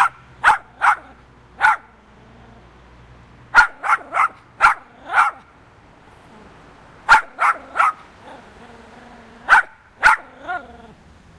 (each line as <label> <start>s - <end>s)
Noisy dog 0.0s - 2.8s
Noisy dog 3.5s - 5.6s
Noisy dog 6.3s - 11.0s